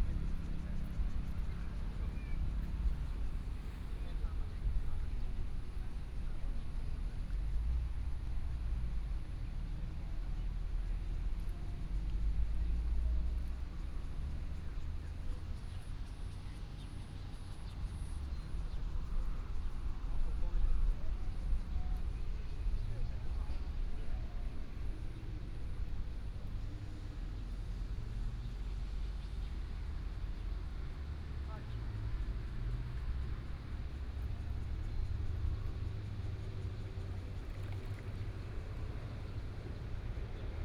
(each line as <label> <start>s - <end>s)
Yacht on the lake 0.0s - 40.6s